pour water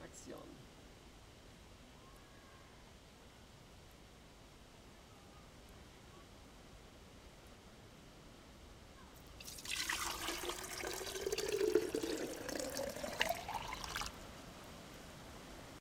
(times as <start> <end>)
9.3 14.2